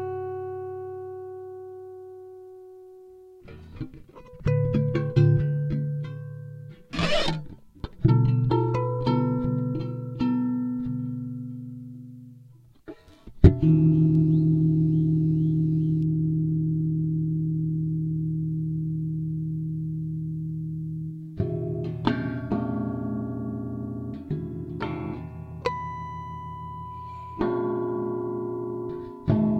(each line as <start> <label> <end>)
3.4 prepared guitar 11.2